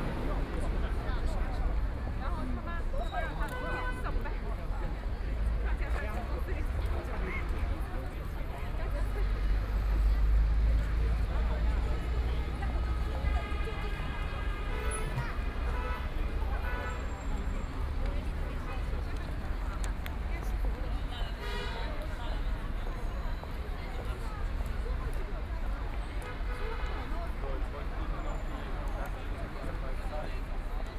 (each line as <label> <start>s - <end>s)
Traffic Sound 0.0s - 30.9s
Walking in the street 0.0s - 30.9s
moving pedestrians 0.0s - 30.9s